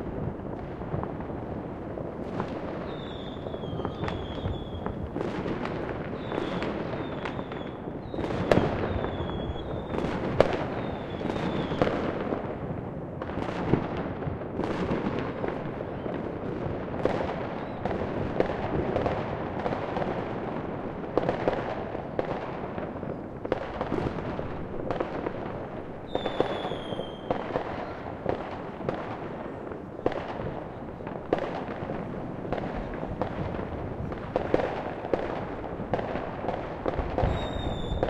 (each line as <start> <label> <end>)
0.0 Fireworks 38.0